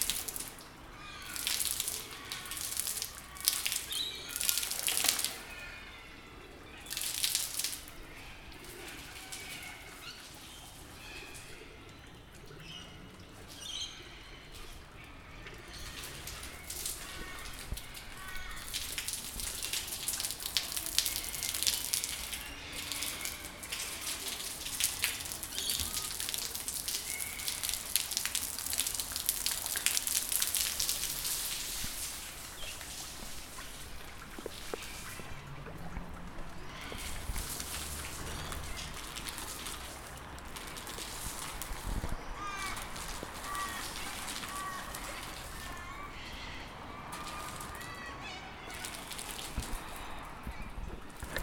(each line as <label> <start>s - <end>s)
Water falling from the building onto strictly one car 0.0s - 12.4s
Water falling from the building onto strictly one car 14.5s - 51.4s